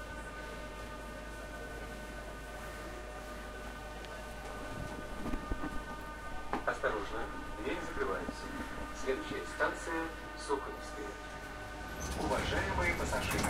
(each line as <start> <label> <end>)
0.0 subway train ride 13.4
1.4 intercom announcements 13.4
6.7 people talking 11.1
12.2 people talking 13.4